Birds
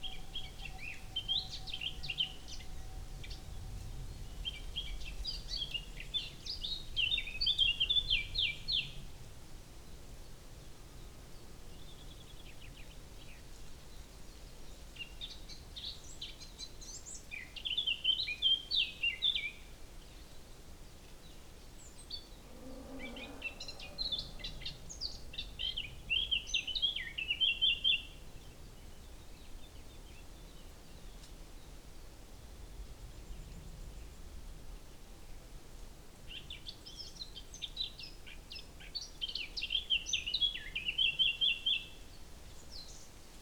11.3s 31.9s

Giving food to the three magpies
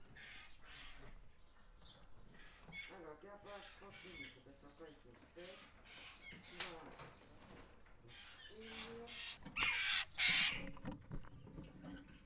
2.3s 11.4s

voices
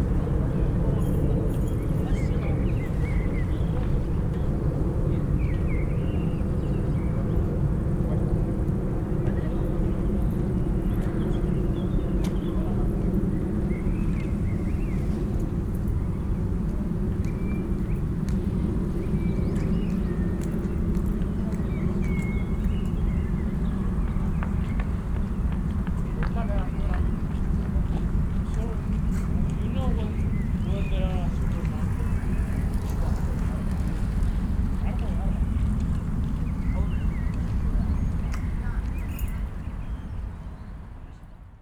26.0s 39.3s

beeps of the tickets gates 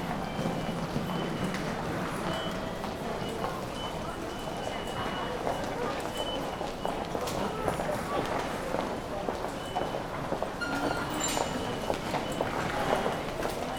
0.3s 7.0s, 10.6s 13.0s

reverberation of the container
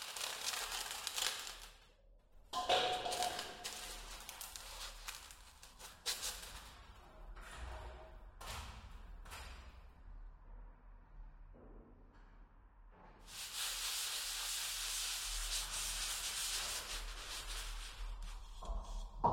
1.6s 13.3s

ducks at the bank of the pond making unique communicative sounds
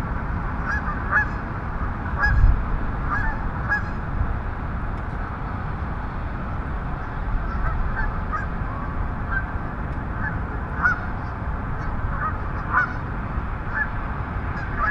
0.6s 1.4s, 2.0s 2.4s, 3.1s 4.0s, 7.0s 9.5s, 10.1s 13.1s, 13.7s 13.9s, 14.5s 14.9s

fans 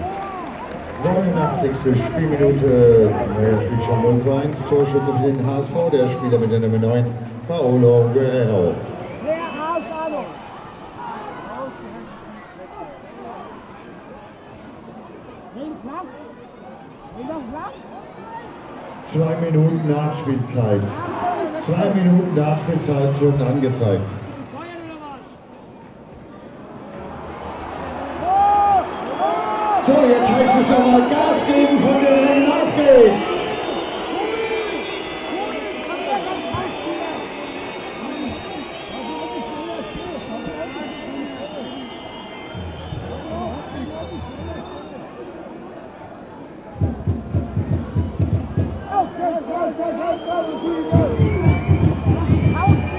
0.0s 11.6s, 26.5s 45.3s, 46.8s 52.9s

